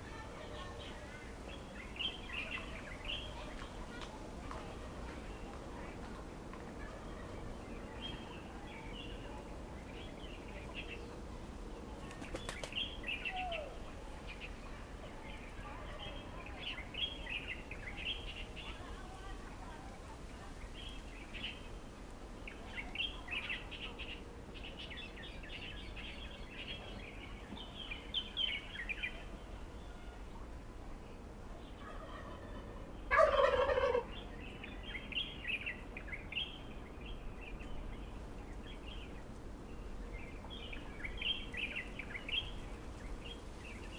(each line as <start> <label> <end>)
31.8 Chicken sounds 34.3
31.8 Turkey calls 34.3
33.0 Birds singing 43.9